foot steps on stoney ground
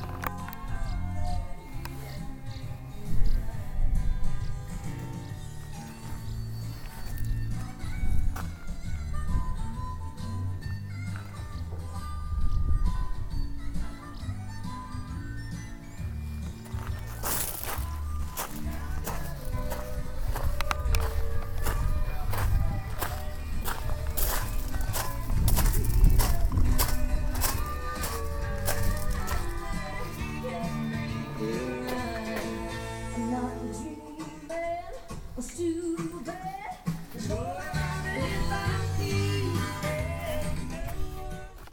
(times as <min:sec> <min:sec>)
0:16.4 0:32.6, 0:36.9 0:41.7